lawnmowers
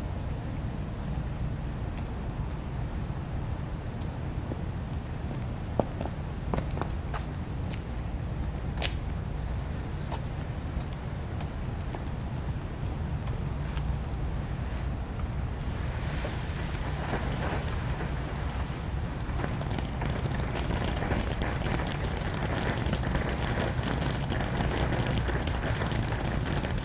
15.6 26.8

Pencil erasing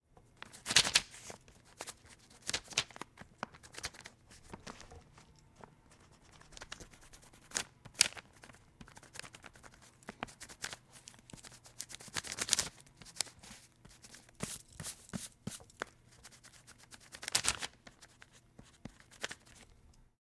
5.6 12.2, 13.0 17.2

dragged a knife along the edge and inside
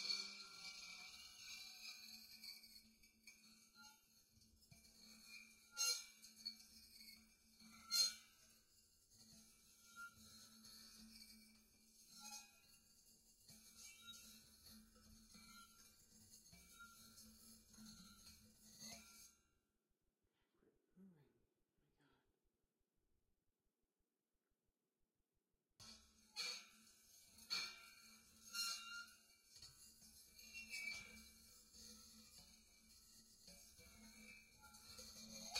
0.0 19.4

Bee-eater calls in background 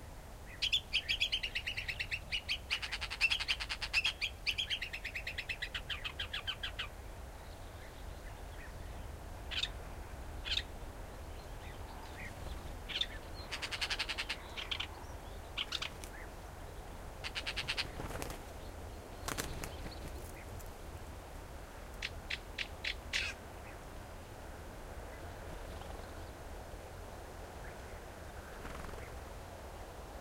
0.5 6.9, 9.5 9.8, 10.4 10.7, 11.6 16.4, 17.2 18.2, 22.0 23.8

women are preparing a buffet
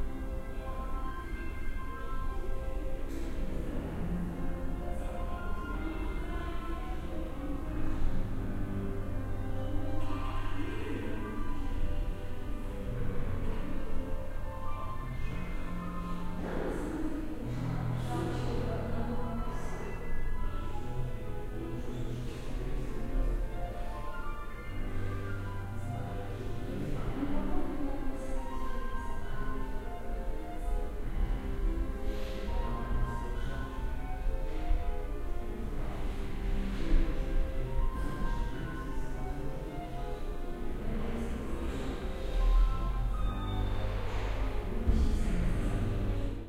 16.4 20.9

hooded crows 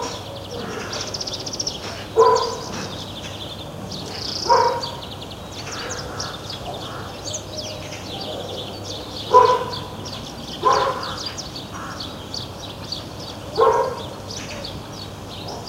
0.0 3.4, 4.1 7.7, 10.6 12.5

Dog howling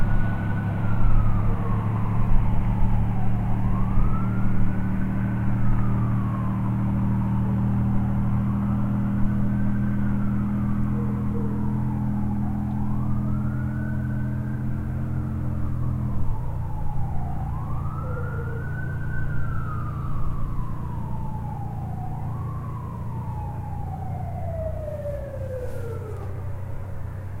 10.9 11.9, 18.0 18.7

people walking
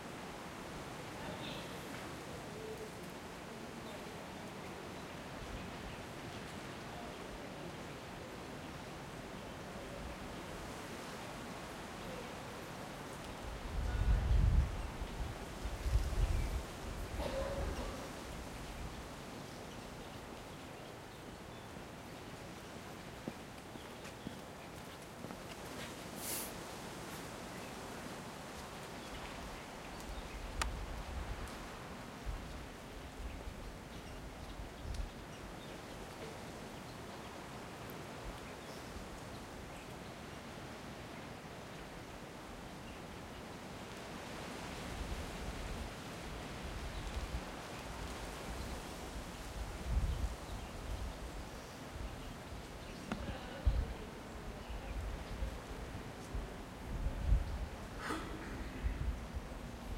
22.8 27.3

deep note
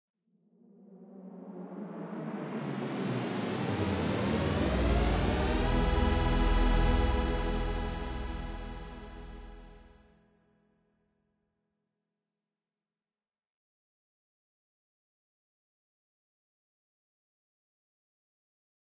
3.8 9.8

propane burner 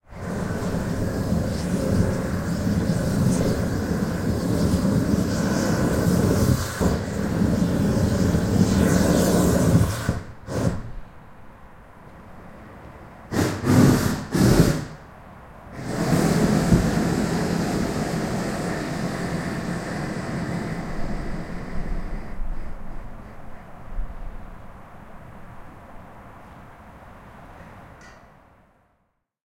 0.0 11.1, 13.3 15.1, 15.7 24.6

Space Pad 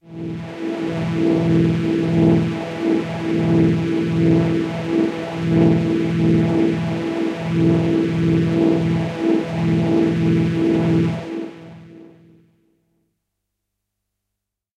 0.1 11.9

